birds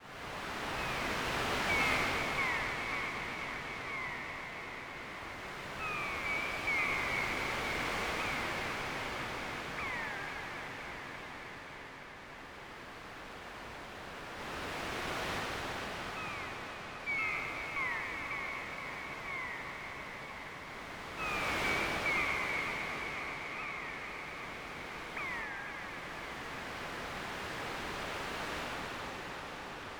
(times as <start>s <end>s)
0.5s 11.5s, 16.1s 27.8s